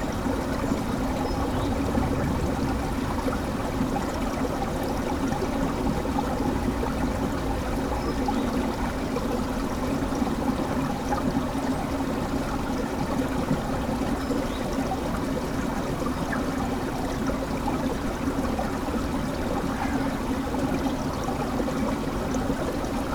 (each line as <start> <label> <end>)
0.0 frozen creek 23.1